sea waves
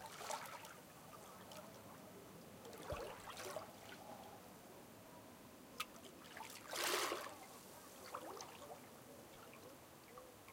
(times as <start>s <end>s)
6.2s 8.6s